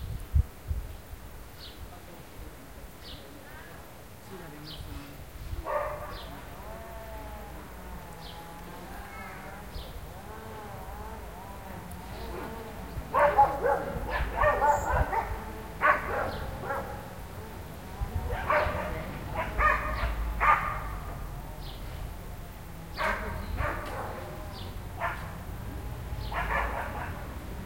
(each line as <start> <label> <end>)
5.6 Dogs Barking 6.3
12.3 Dogs Barking 17.2
18.3 Dogs Barking 21.3
23.0 Dogs Barking 25.6
26.2 Dogs Barking 27.4